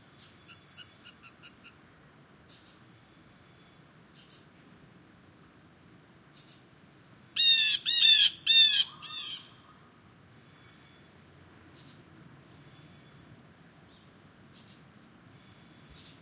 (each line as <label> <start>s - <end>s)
Blue Jay calls 7.4s - 9.8s